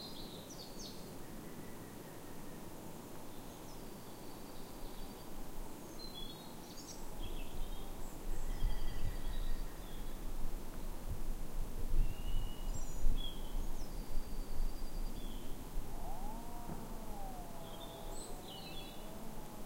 breeze in the trees 0.0 - 19.6
many birds 15.2 - 19.6
green woodpecker 15.2 - 19.6
distant traffic 15.8 - 19.6

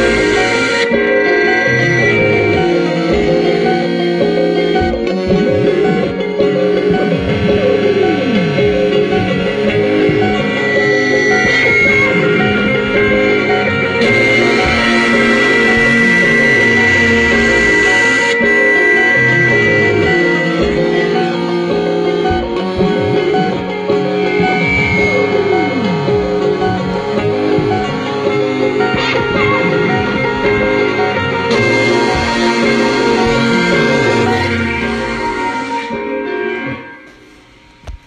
guitar 0.0 - 38.0

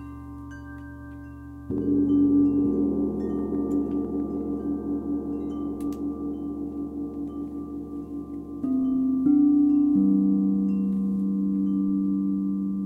30-inch diameter Zildjian gong 0.0 - 12.8
crystal singing bowls of varying notes and sizes 0.0 - 12.8
vocal toning aligned with the bowls 0.0 - 12.8

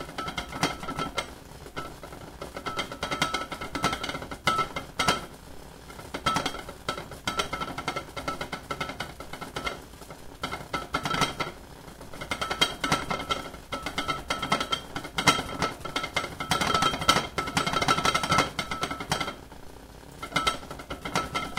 ceramic Japanese rice pot cooking 0.0 - 21.5
clattering 0.0 - 9.8
clattering 10.4 - 11.6
clattering 12.2 - 19.4
clattering 20.2 - 21.5

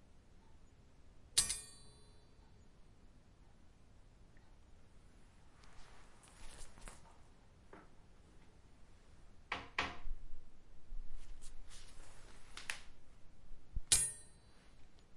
metal coat hanger being hit on the stone pavement 1.4 - 2.0
metal coat hanger being hit on the stone pavement 13.8 - 14.4

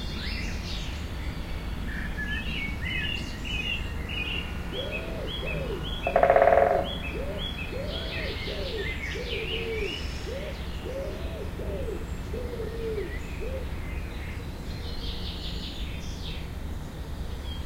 bird song 0.0 - 17.6
traffic 0.0 - 17.6
distant train 4.5 - 7.2
woodpecker pecking wood 6.1 - 6.9

